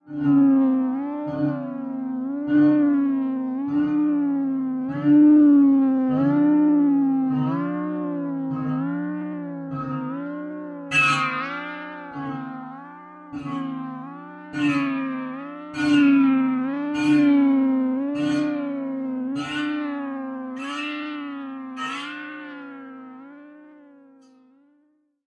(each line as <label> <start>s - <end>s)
modular synthesizer 0.0s - 24.4s